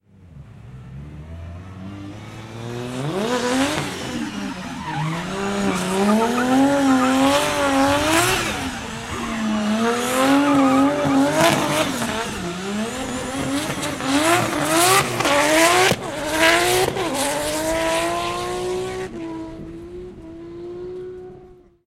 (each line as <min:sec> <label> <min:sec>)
0:00.1 Drift race car 0:21.8
0:04.6 squeals 0:09.5